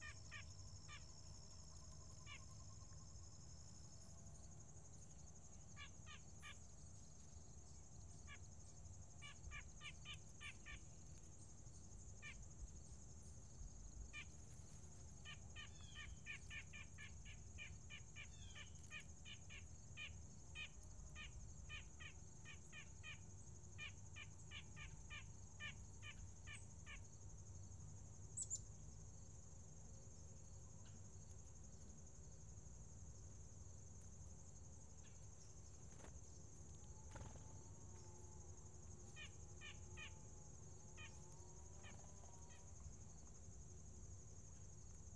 35.4s birds are friendly 38.1s

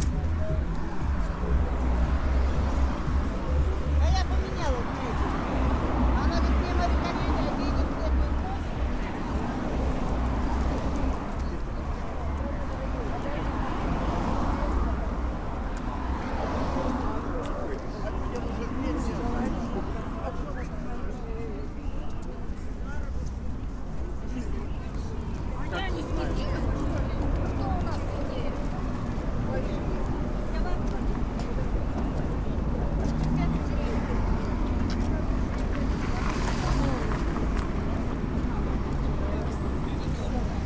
0.0s Voices in Russian 40.6s
0.0s Walkinth through rows of merchants 40.6s
0.0s cars 40.6s

